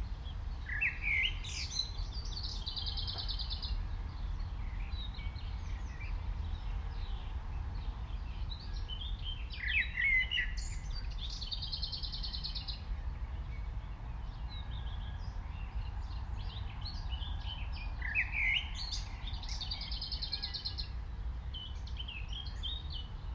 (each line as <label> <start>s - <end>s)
nightingale is sings very close by 0.2s - 23.1s
blackbird 0.6s - 23.3s